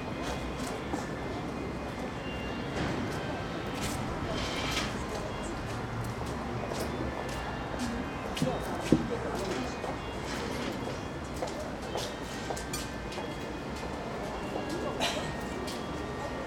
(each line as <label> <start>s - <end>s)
people waiting for the show 0.0s - 16.4s